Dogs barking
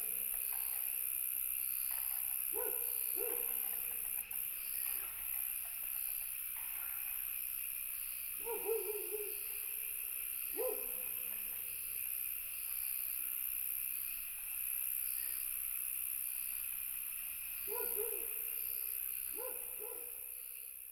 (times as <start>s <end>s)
2.5s 3.8s, 8.4s 9.4s, 10.6s 11.1s, 17.7s 18.4s, 19.4s 20.2s